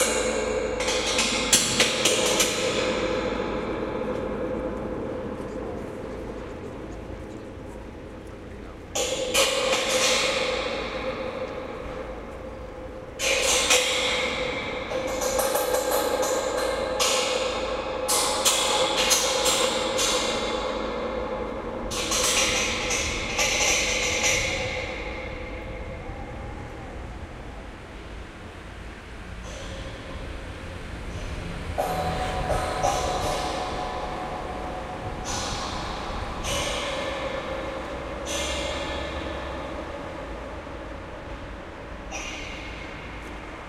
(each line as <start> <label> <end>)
9.0 metal fence 26.1
31.1 metal fence 43.6